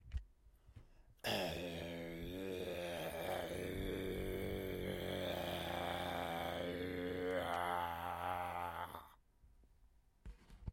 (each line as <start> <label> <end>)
1.2 growling like a zombie 9.2